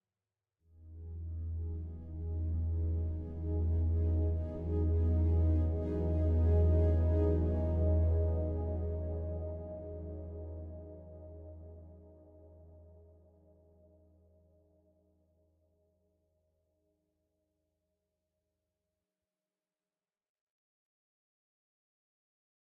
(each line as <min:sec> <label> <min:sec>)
0:01.2 synth pad chord 0:13.0